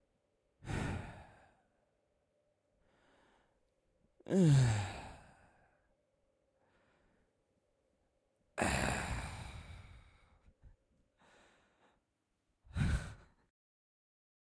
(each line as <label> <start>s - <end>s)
different sighs 0.6s - 1.7s
different sighs 4.3s - 5.8s
different sighs 8.6s - 10.5s
different sighs 12.7s - 13.4s